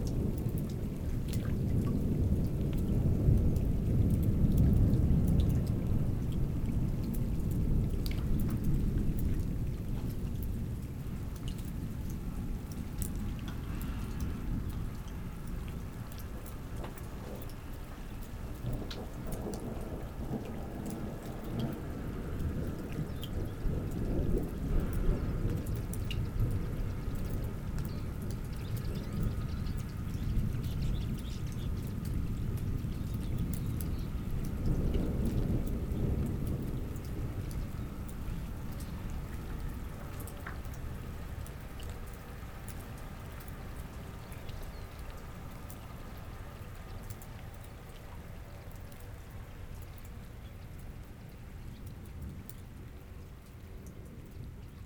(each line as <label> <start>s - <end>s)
small river 0.0s - 54.8s
strong storm 0.0s - 54.8s